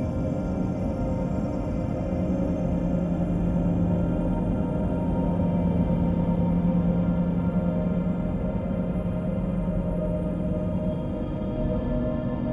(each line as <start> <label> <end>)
0.0 slowly evolving dreamy ambient drone pad 12.5